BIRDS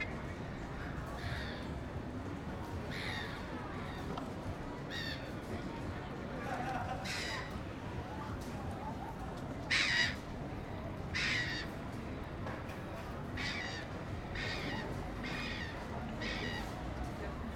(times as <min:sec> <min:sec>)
0:13.4 0:16.8